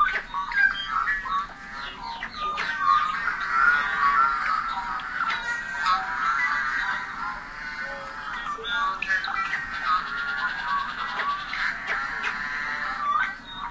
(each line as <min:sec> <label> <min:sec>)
0:00.0 blackbirds 0:13.7